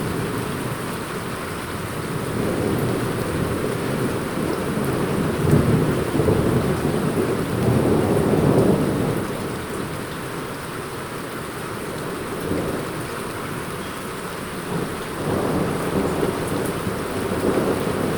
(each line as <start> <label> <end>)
14.5 Storm 18.1